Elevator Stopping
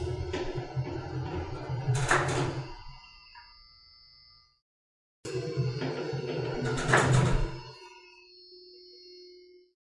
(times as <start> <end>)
0.0 3.1, 5.3 7.8